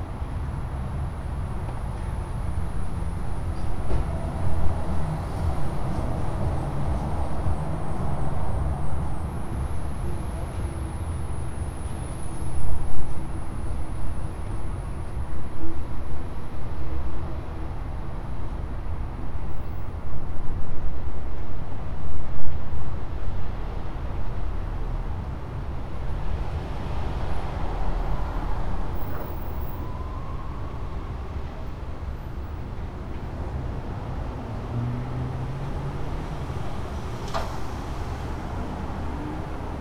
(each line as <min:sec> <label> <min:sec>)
0:00.0 traffic sounds 0:39.8